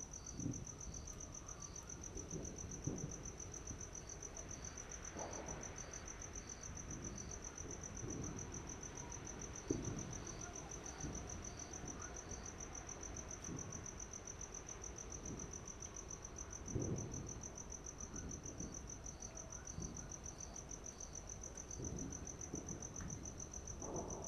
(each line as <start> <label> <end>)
0.0 Wind 24.2
0.1 Fireworks displays 24.2